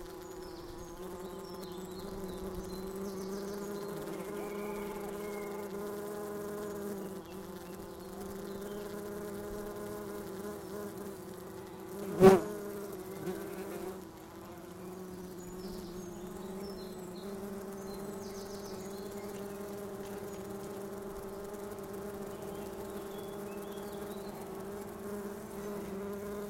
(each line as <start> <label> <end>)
0.0 birds 26.4
0.0 bumblebees 26.4